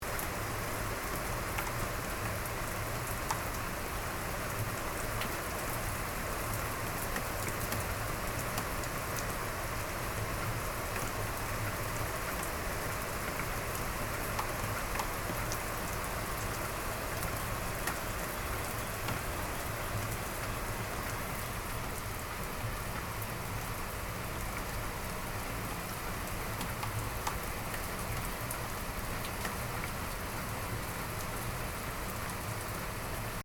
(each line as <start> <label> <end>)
0.0 Rain sound 33.4